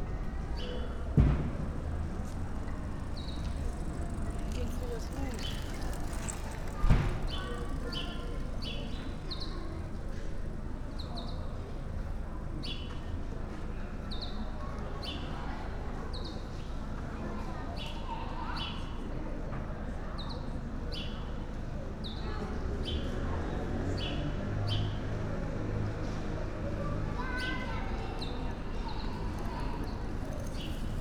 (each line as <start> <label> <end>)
0.0 kids of all ages 31.0
0.0 street sounds 31.0